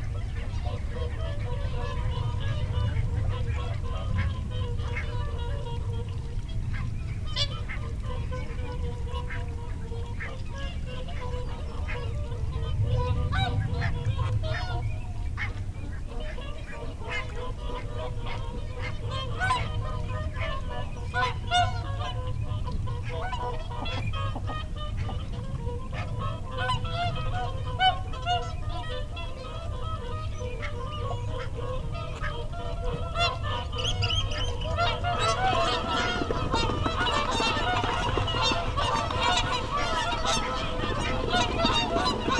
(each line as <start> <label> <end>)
0.0 background noise 42.3
0.0 curlew 42.3
0.0 barnacle geese 42.3
0.2 mute swan 42.3
0.2 mallard 42.3
33.2 wigeon 42.3
33.2 whooper swan 42.3
33.8 lapwing 42.3
33.8 redwing 42.3